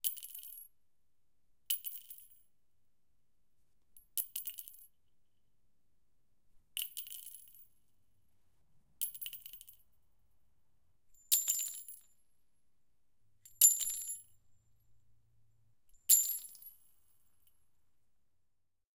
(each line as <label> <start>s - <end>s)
Dropping handfuls of bullet shells onto concrete 11.2s - 12.2s
Dropping handfuls of bullet shells onto concrete 13.5s - 14.4s
Dropping handfuls of bullet shells onto concrete 16.1s - 17.5s